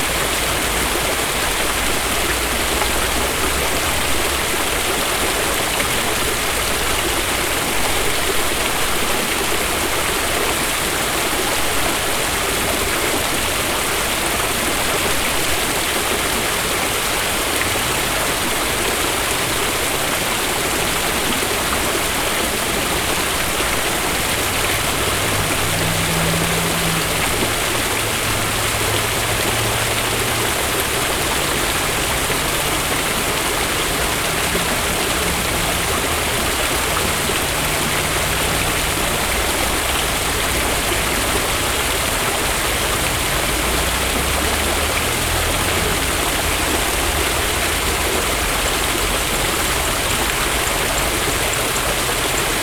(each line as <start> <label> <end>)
0.0 waterfall 52.6